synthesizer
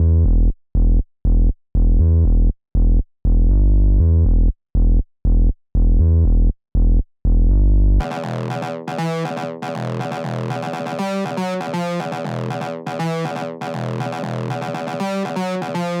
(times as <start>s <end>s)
8.0s 16.0s